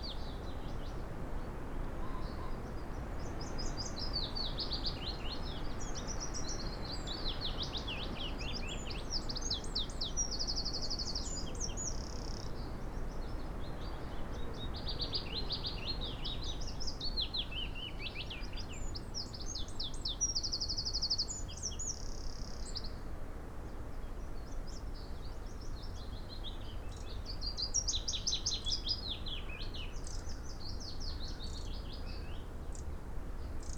willow warbler song 23.7 - 33.7

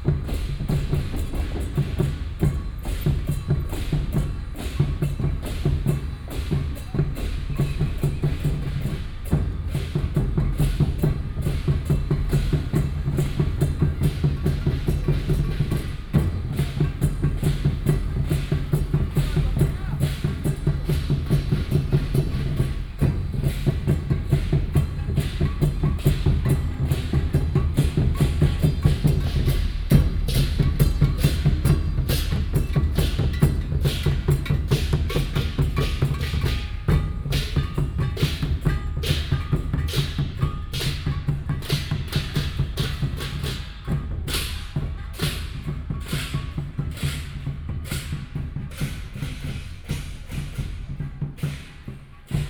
Temple festival parade 0.0 - 52.4

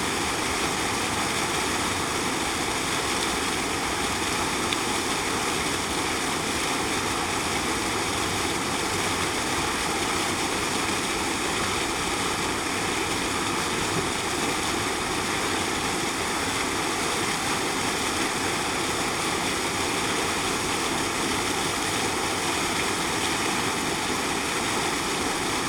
Fountain 0.0 - 25.6

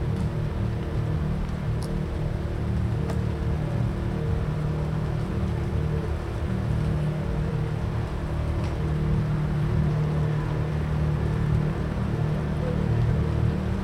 airplane 0.0 - 13.8
motorboat 0.0 - 13.8
rain 0.0 - 13.8

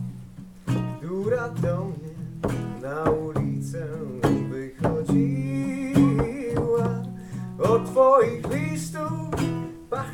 Songs 0.0 - 10.1

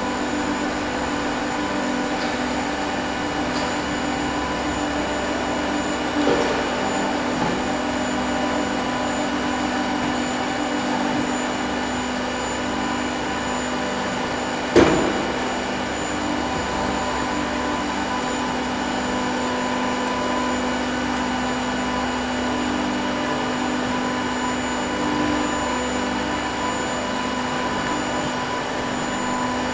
Industrial sized 3D printers work night and day 0.0 - 29.7

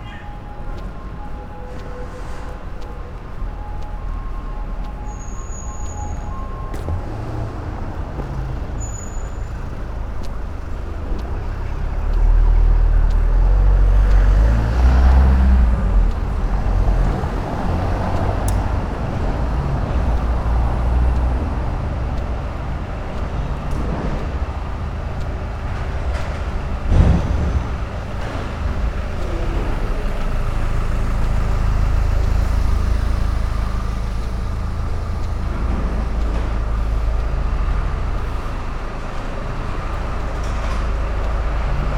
people walk by 0.0 - 41.9
walking along popular promenade 0.0 - 41.9

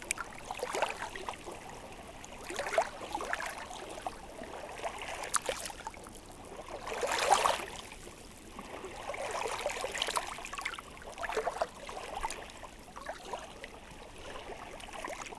High tide rippling stones 0.0 - 6.0

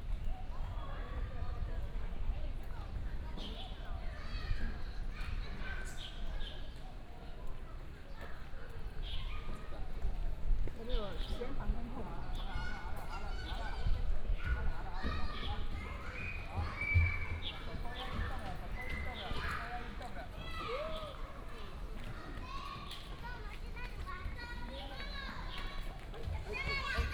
Walking through the park 0.0 - 27.1
birds 10.9 - 23.7
Child 12.5 - 17.4
Child 19.0 - 27.1

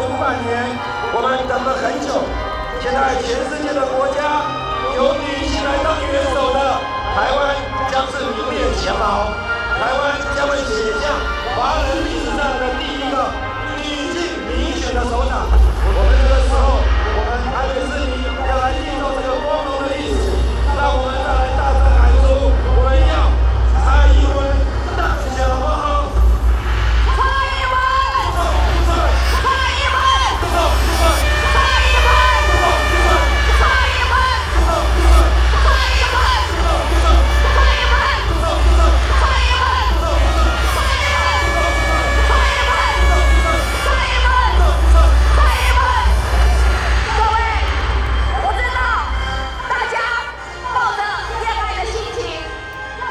speech of the opposition 0.0 - 53.1

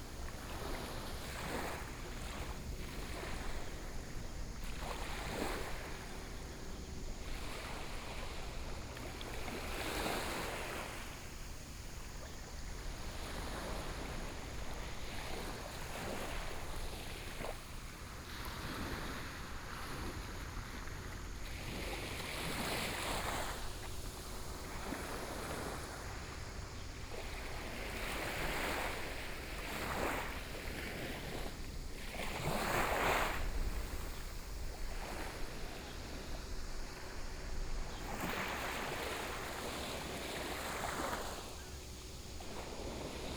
waves 0.0 - 43.3

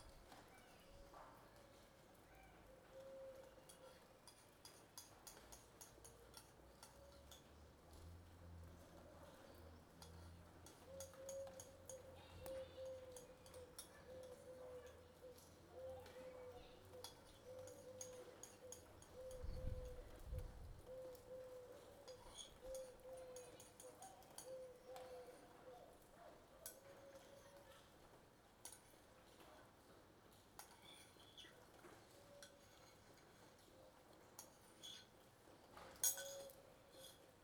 birds 9.2 - 27.8

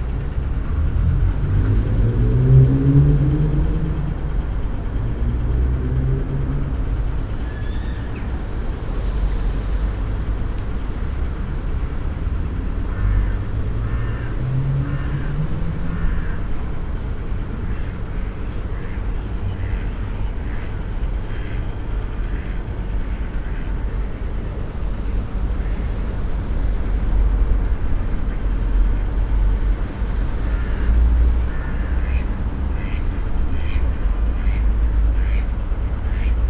a plane in the distance 0.0 - 36.4
motor sounds from a boat 0.0 - 36.4
small river 0.0 - 36.4
ducks on the water 12.5 - 36.4

